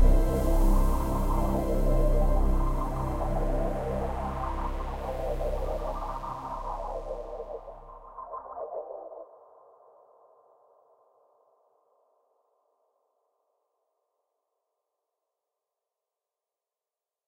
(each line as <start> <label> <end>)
0.0 synth 9.1